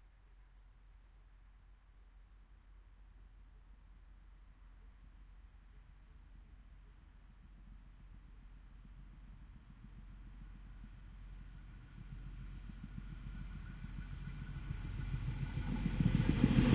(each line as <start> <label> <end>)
8.6 Train Passing By Medium Speed L to R 16.7